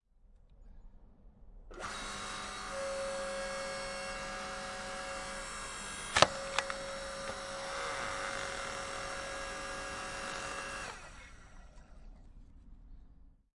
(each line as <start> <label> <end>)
1.7 Hydraulic log splitter 12.0